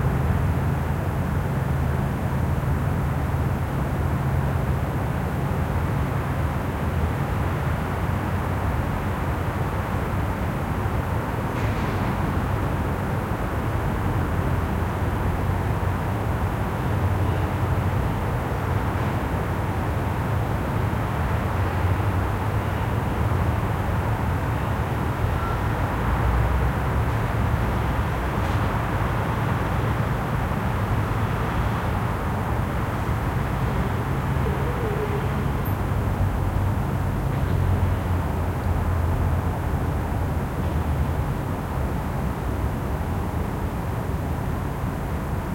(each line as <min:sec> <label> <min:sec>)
0:16.7 street noises in far distance 0:42.4